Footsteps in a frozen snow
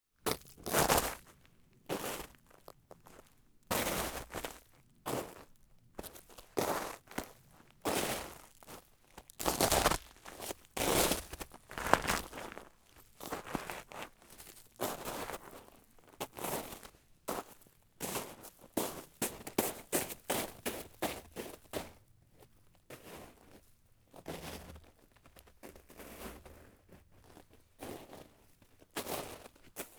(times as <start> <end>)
0.3 1.3, 7.9 15.8